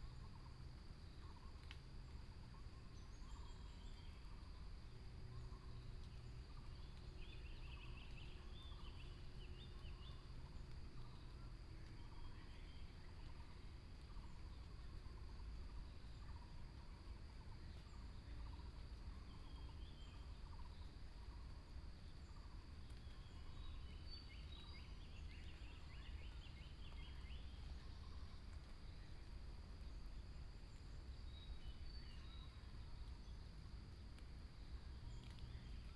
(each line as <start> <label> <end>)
0.0 insects 35.9
0.0 Bird sounds 35.9